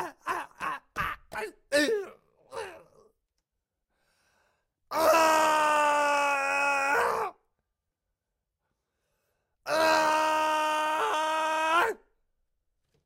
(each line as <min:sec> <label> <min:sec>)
0:04.9 Male screaming close to the mic 0:07.4
0:09.7 Male screaming close to the mic 0:12.0